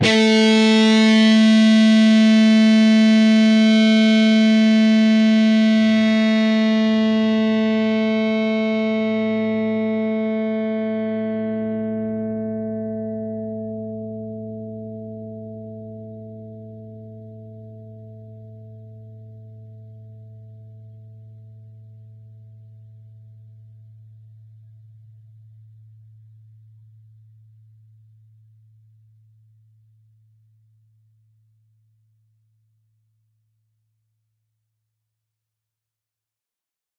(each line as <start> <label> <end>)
0.0 distorted guitar 21.6